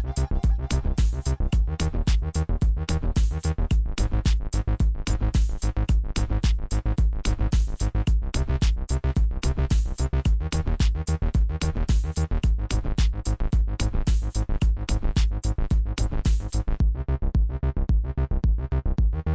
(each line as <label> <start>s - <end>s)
Drums 0.0s - 19.2s
synthesizer 0.0s - 19.3s